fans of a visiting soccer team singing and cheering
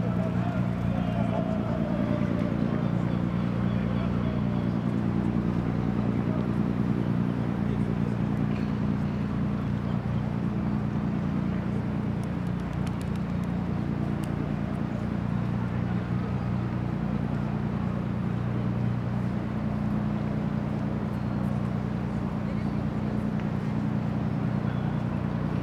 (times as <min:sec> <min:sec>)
0:00.0 0:05.0